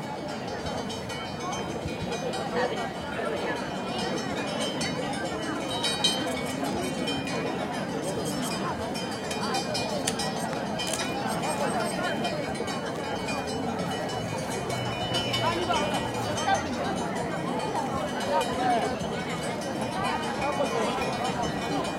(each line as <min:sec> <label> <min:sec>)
0:00.0 bells 0:21.9
0:00.0 people 0:21.9